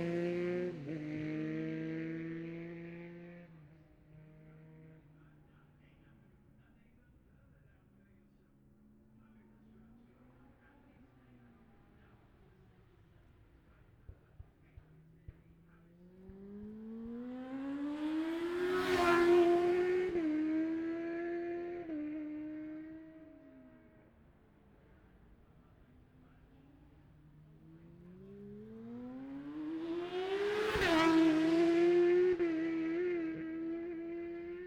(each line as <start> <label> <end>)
0.0 classic superbikes qualifying 34.6